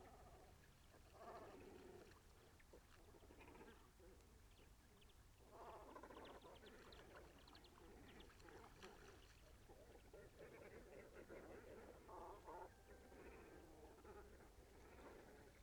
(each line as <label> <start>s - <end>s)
group of cormorants in the trees of the headland 0.0s - 15.6s
two bathing swans 0.0s - 15.6s